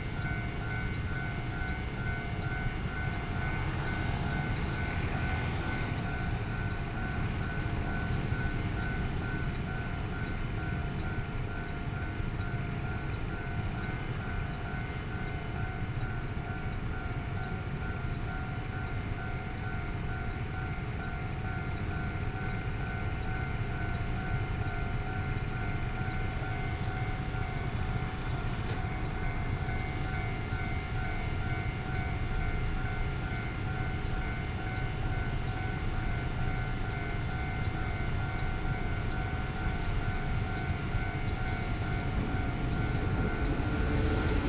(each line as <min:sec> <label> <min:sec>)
0:00.0 Trains traveling through 0:44.4
0:24.5 Traffic Sound 0:44.4